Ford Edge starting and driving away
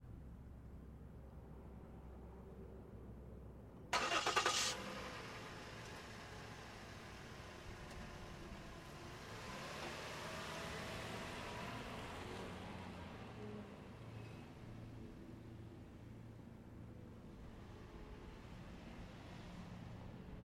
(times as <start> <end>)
3.9 14.6